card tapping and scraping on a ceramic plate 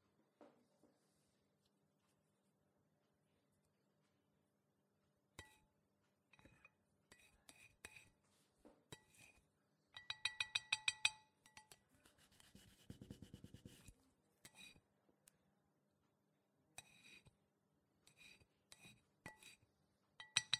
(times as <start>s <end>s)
18.1s 19.6s